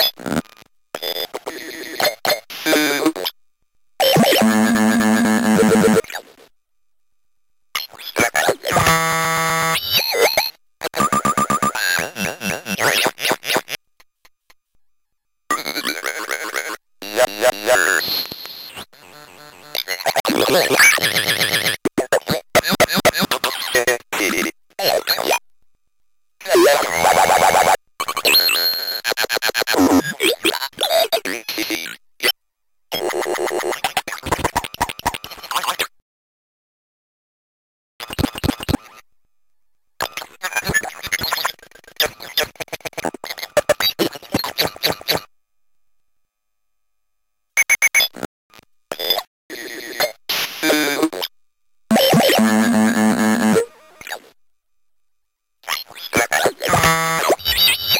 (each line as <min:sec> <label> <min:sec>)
0:19.8 circuit bent speak and spell 0:25.4
0:55.9 circuit bent speak and spell 0:57.9